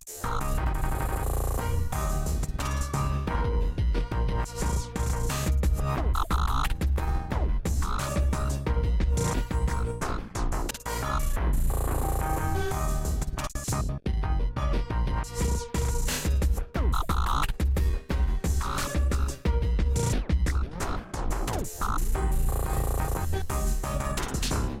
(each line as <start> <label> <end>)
0.0 glitch channels 3.0
4.4 glitch channels 13.9
15.3 glitch channels 17.6
18.6 glitch channels 24.8